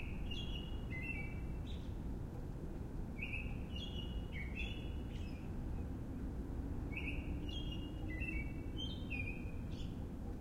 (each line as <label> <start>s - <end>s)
bird 0.0s - 2.0s
city rumble 0.0s - 10.4s
bird 3.2s - 5.9s
bird 6.9s - 10.1s